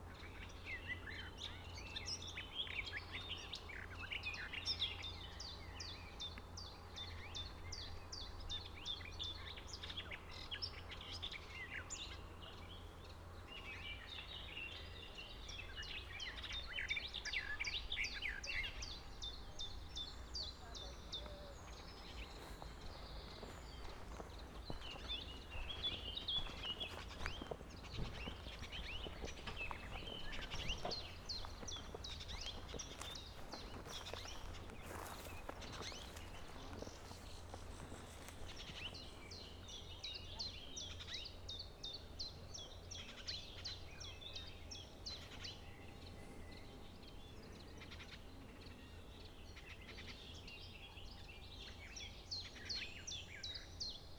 birds 0.0 - 54.1
walking 20.8 - 39.8

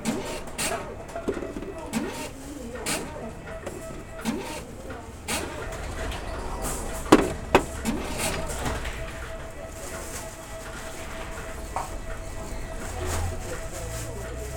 Deposit of beer cans and bottles 0.0 - 9.6

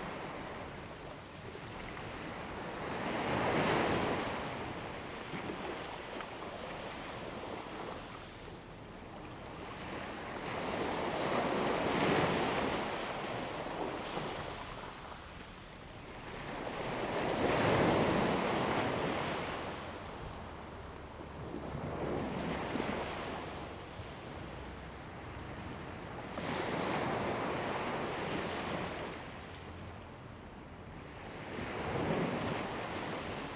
waves 9.2 - 33.5

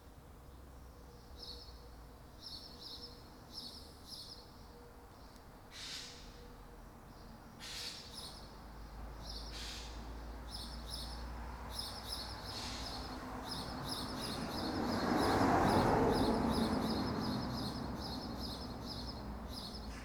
morning birds 0.6 - 20.0

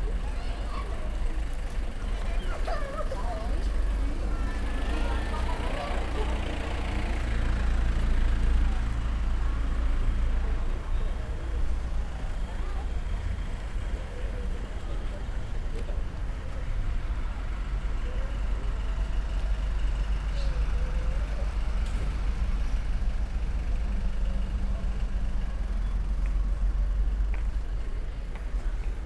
walking the streets 0.0 - 29.0

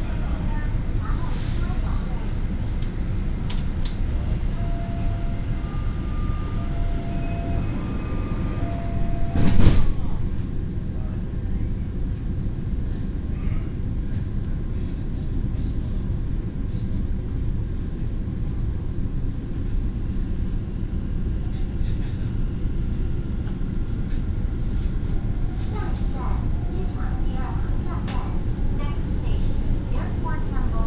Station message broadcast 0.0 - 10.6
Station message broadcast 25.2 - 30.8

